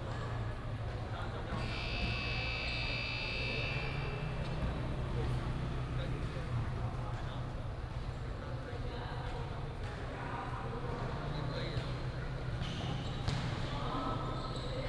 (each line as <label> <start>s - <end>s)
Basketball game 12.5s - 14.7s